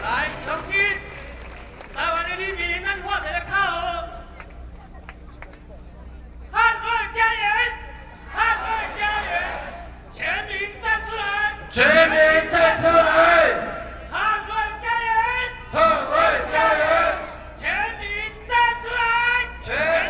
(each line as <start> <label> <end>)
0.0 Protest 5.2